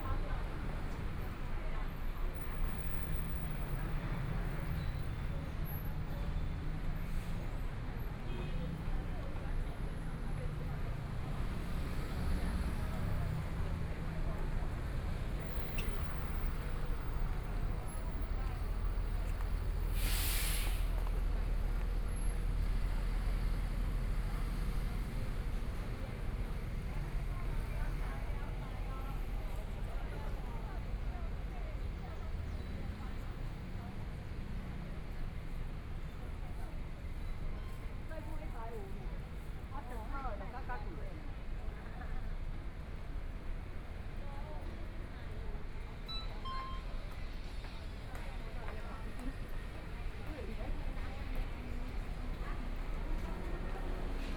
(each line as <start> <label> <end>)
0.0 Traffic Sound 54.3
0.0 Various shops voices 54.3
44.0 Construction site sounds 54.3